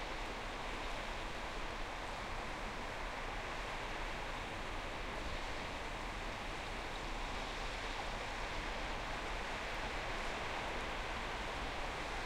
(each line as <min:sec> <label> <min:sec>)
0:00.0 sea 0:12.2
0:00.0 wind 0:12.2